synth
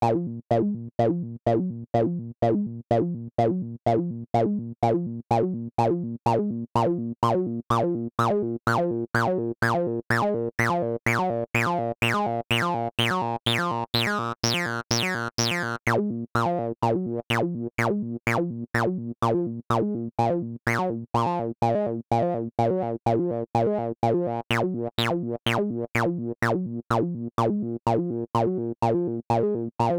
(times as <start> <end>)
12.6 16.0, 24.5 25.6